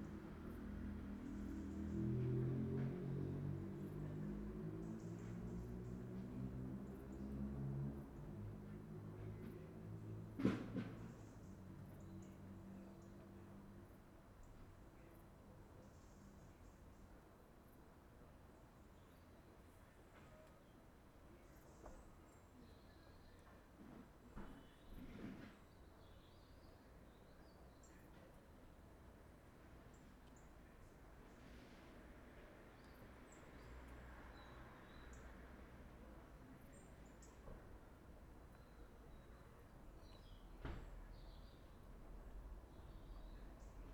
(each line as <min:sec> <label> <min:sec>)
0:00.0 distant cars 0:16.3
0:24.2 birds chirp 0:28.4
0:29.4 distant cars 0:43.9
0:38.4 birds chirp 0:43.9